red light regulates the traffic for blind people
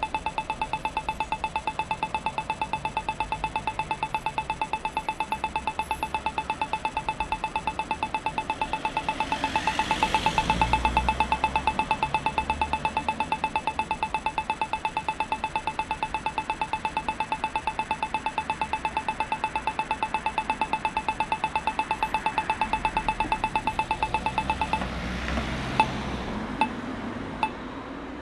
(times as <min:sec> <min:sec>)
0:05.8 0:15.4